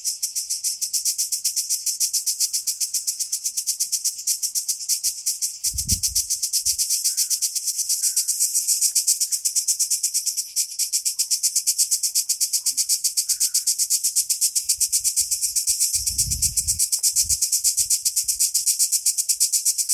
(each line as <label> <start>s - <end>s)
Cricket song 0.0s - 19.9s